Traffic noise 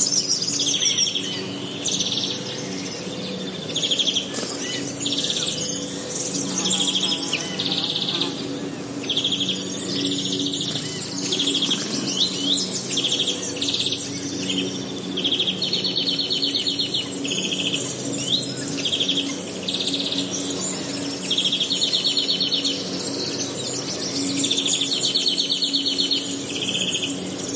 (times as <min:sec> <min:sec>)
0:03.4 0:12.9